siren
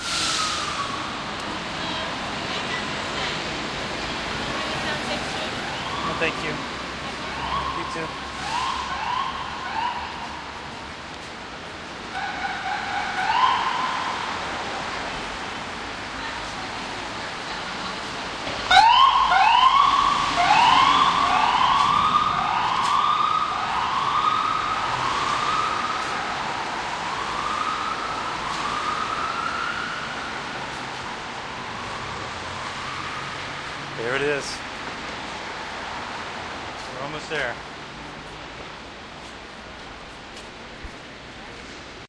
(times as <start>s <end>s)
5.7s 6.6s, 7.3s 10.6s, 12.1s 14.4s, 18.6s 33.6s